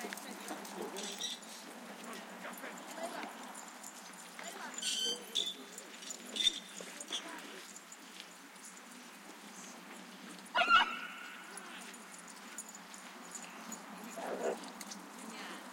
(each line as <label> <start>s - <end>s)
people 0.0s - 15.7s
barking 10.6s - 11.9s
barking 14.1s - 14.7s